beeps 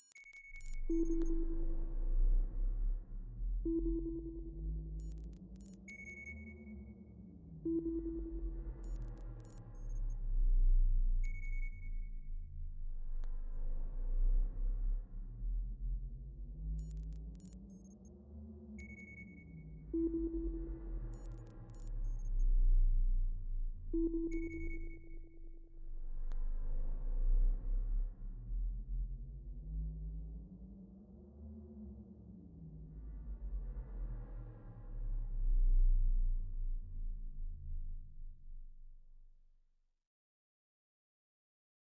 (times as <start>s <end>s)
0.0s 1.6s, 5.0s 6.3s, 7.7s 9.9s, 16.8s 17.8s, 20.0s 22.3s